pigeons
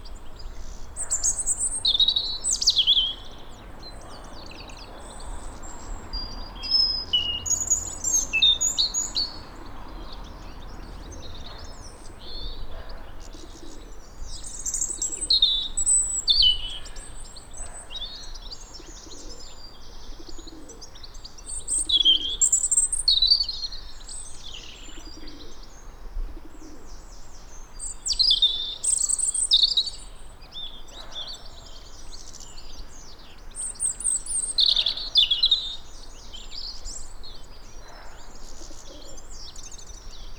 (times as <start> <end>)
9.6 14.0, 18.8 21.0, 24.9 25.7, 37.8 39.3